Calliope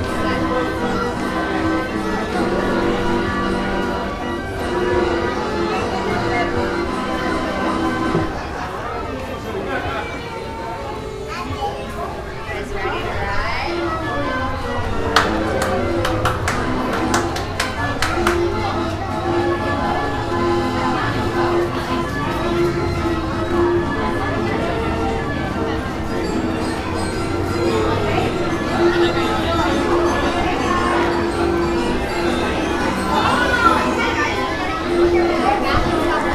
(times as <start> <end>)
12.8 36.3